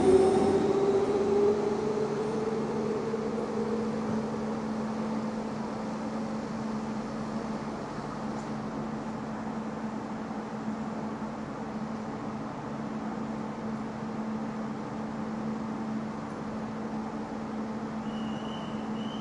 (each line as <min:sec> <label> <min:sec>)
0:00.0 Train 0:19.2